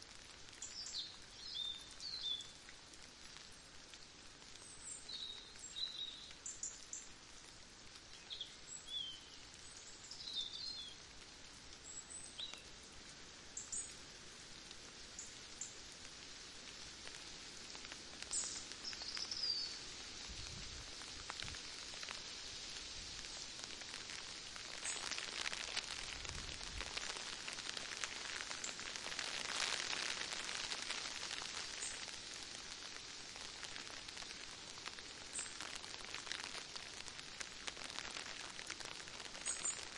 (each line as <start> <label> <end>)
0.0 Rain trickling down on an umbrella 39.9
0.0 wind 39.9
18.2 birds are twittering 19.8